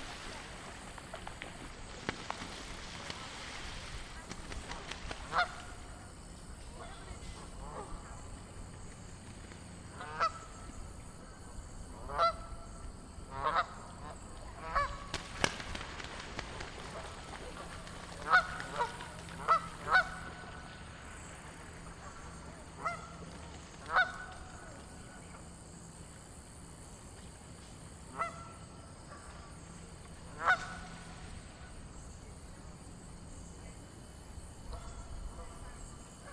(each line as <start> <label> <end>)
0.0 Canadian Geese slapdown 6.0
14.6 Canadian Geese slapdown 20.4